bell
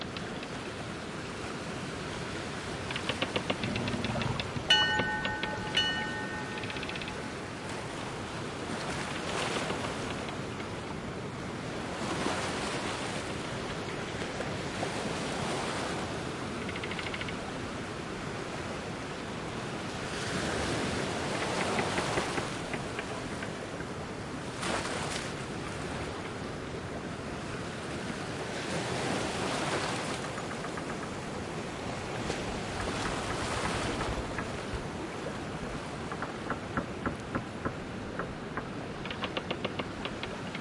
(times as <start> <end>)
4.7 7.3